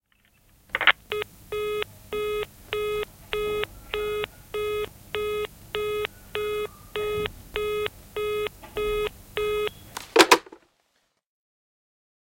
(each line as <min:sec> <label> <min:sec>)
0:00.8 A landline digital telephone, line 0:10.6
0:01.1 line busy signal 0:09.8
0:10.0 receiver hang up 0:10.6